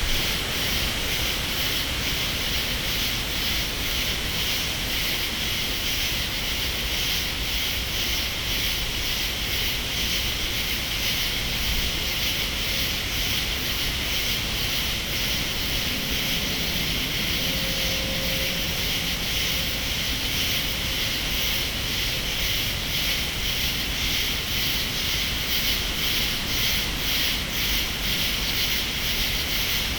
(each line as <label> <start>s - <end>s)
distant thunder 0.0s - 2.2s
cicadas 0.0s - 29.9s
distant thunder 13.3s - 23.0s